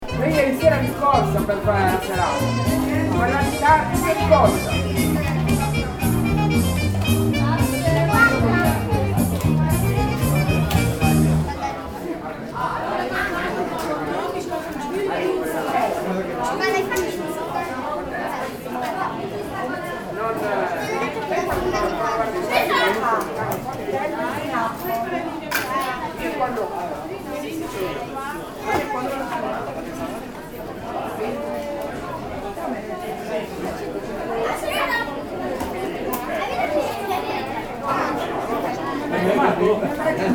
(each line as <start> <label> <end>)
0.0 voices at the bar 40.3
0.0 playback music 11.6